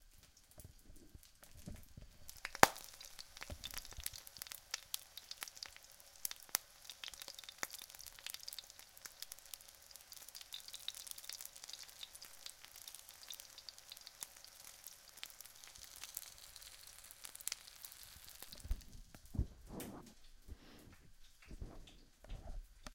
frying pan in action 0.0 - 22.9

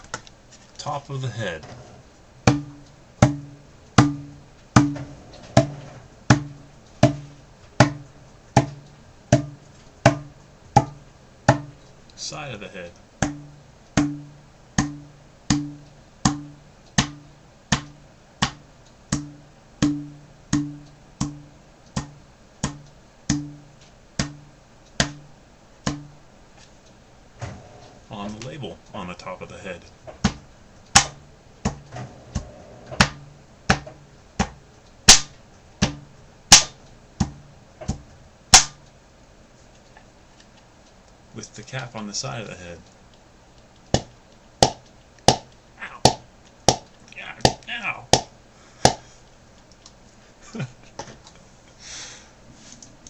Audible narrations 0.8 - 1.8
Audible narrations 12.2 - 13.0
Audible narrations 28.1 - 30.0
Audible narrations 41.3 - 42.9
Audible narrations 45.8 - 46.1
Audible narrations 47.1 - 48.1

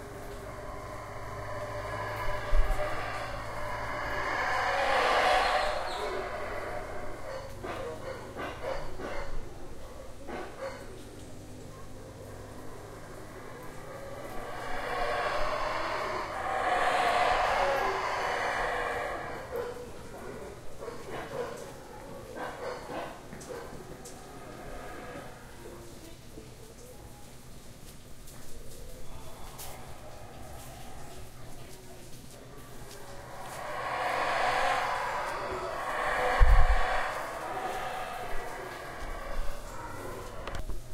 Howler monkeys 0.0 - 27.4
Howler monkeys 28.3 - 40.9

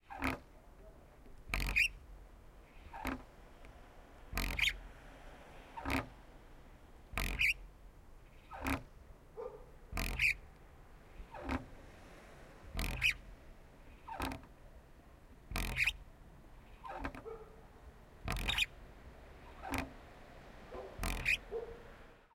Swing or seesaw from close 1.5 - 7.7
car passing 2.2 - 22.3
Swing or seesaw from close 8.3 - 9.0
dog barking 9.4 - 9.8
Swing or seesaw from close 9.9 - 10.5
Swing or seesaw from close 11.1 - 14.5
Swing or seesaw from close 15.5 - 16.0
Swing or seesaw from close 16.6 - 17.4
dog barking 17.2 - 17.7
Swing or seesaw from close 18.2 - 18.8
Swing or seesaw from close 19.4 - 22.1
dog barking 20.7 - 21.9

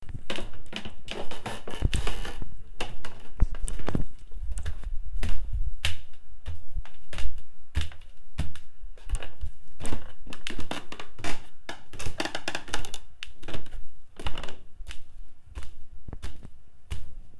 walking down the stairs 0.0 - 17.3

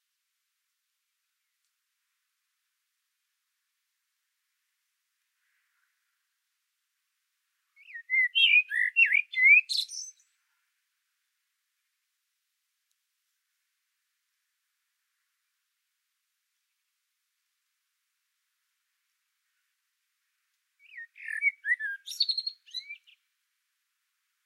blackbird 7.8 - 10.4
blackbird 20.8 - 23.3

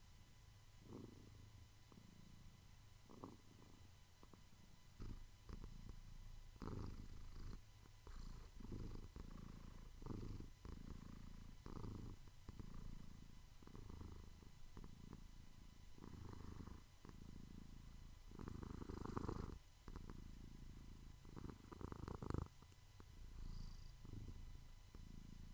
purring 0.8 - 25.5

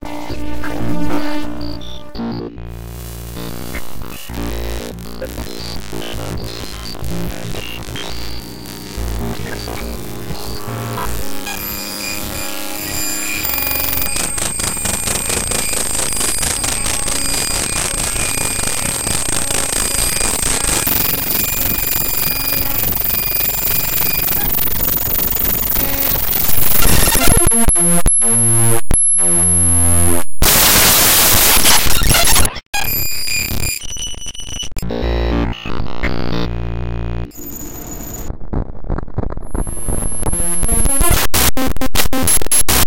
Hi-Tech Computer Glitch 0.1 - 36.5
Hi-Tech Computer Glitch 37.2 - 38.4
Hi-Tech Computer Glitch 39.4 - 42.8

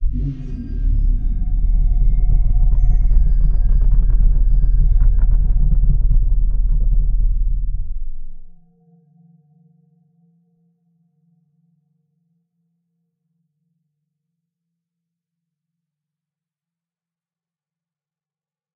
big bass like monster sound 0.0 - 8.6

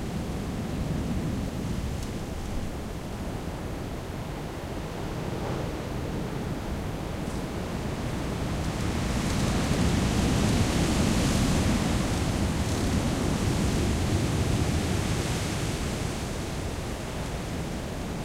Stormy winds through the trees 0.0 - 18.2

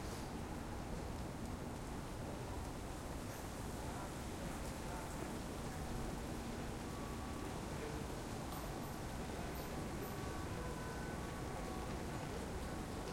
rain 0.0 - 13.1
wind 0.0 - 13.1
traffic 6.0 - 13.1

